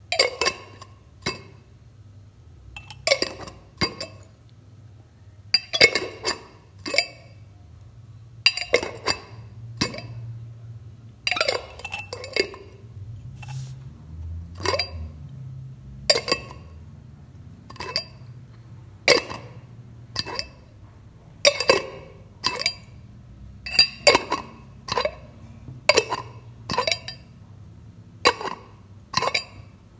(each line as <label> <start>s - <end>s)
opening and closing olive glass jars with a metal lid 0.2s - 1.6s
opening and closing olive glass jars with a metal lid 2.8s - 4.3s
opening and closing olive glass jars with a metal lid 5.6s - 7.4s
opening and closing olive glass jars with a metal lid 8.5s - 10.3s
opening and closing olive glass jars with a metal lid 11.3s - 13.8s
opening and closing olive glass jars with a metal lid 14.6s - 15.1s
opening and closing olive glass jars with a metal lid 16.0s - 16.8s
opening and closing olive glass jars with a metal lid 17.7s - 18.4s
opening and closing olive glass jars with a metal lid 19.1s - 20.8s
opening and closing olive glass jars with a metal lid 21.5s - 23.0s
opening and closing olive glass jars with a metal lid 23.7s - 27.3s
opening and closing olive glass jars with a metal lid 28.2s - 29.7s